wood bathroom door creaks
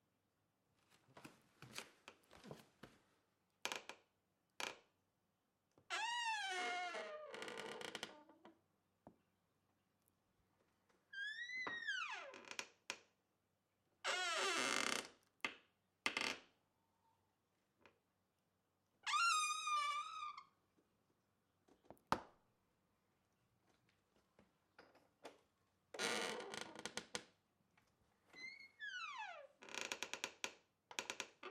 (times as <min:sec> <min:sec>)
0:06.4 0:08.3, 0:14.1 0:15.0, 0:26.0 0:27.1, 0:28.4 0:30.4